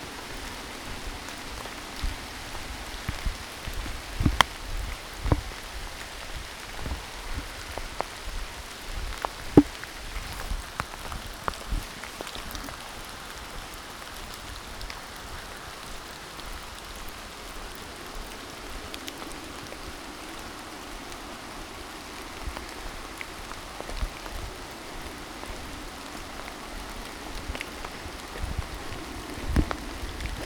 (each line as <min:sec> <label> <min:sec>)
0:00.0 rain 0:30.4